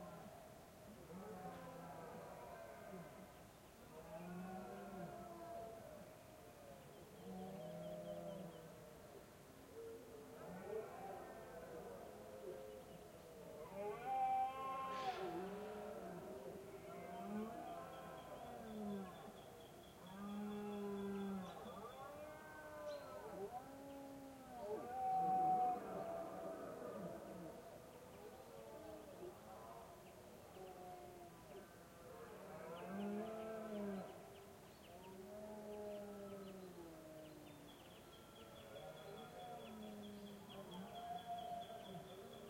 bellows of deers 13.6 - 16.2

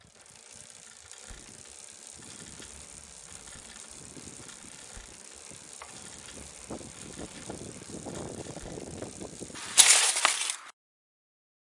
Mountain-Bike Crash 0.1 - 10.7

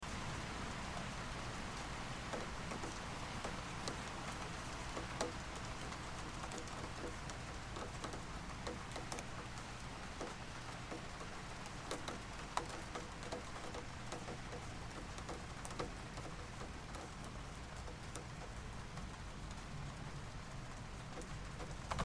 drops hit the window lightly 2.3 - 19.1

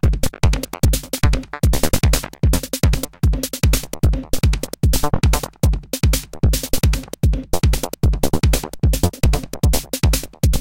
bass 0.0 - 10.6

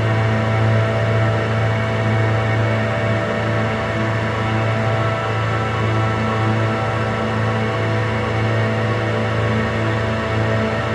Slow evolving layered drone 0.0 - 10.9

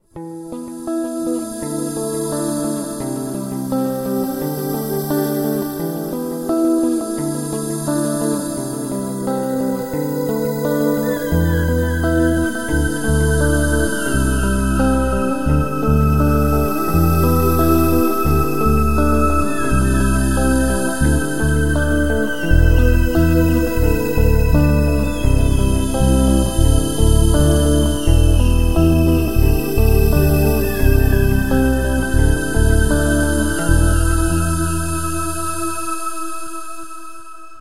guitar 0.0 - 37.6
Synths 1.1 - 37.6
bass 11.3 - 35.7

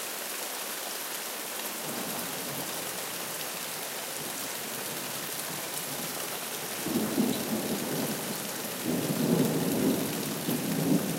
hard rain 0.0 - 11.1

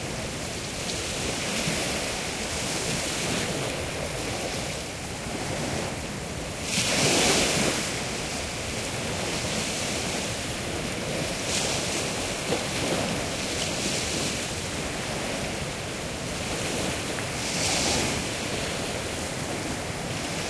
mild wind 0.0 - 20.4
waves lapping against the shore 0.0 - 20.4

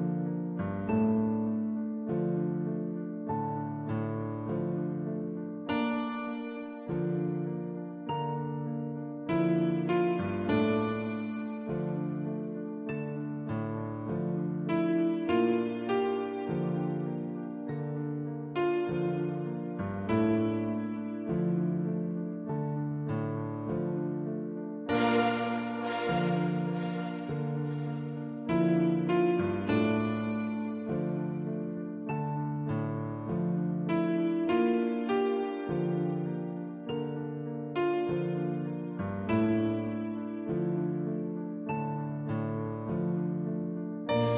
Piano 0.0 - 44.3

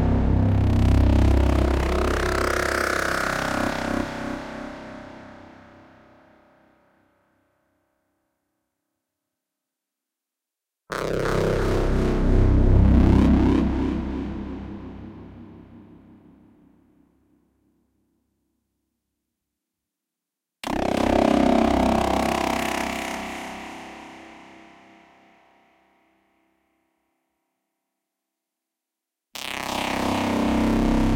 synth 0.0 - 3.7
synth 11.1 - 16.6

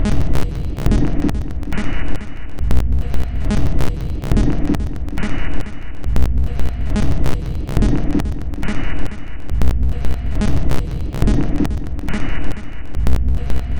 Drum Loop 0.0 - 13.7

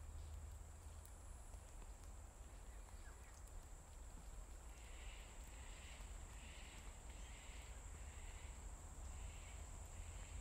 insects 4.2 - 10.4

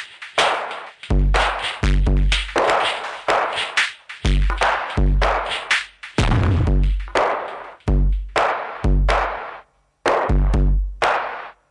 Drum Loop 0.0 - 11.6

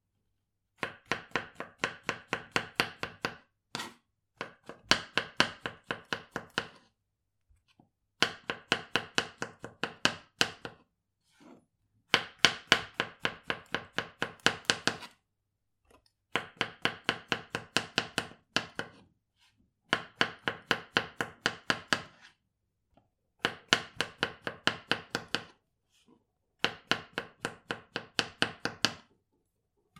chef cuts mushrooms into thin slices 0.8 - 7.0
chef cuts mushrooms into thin slices 8.2 - 11.5
chef cuts mushrooms into thin slices 12.1 - 15.2
chef cuts mushrooms into thin slices 16.3 - 22.4
chef cuts mushrooms into thin slices 23.4 - 25.6
chef cuts mushrooms into thin slices 26.6 - 29.1

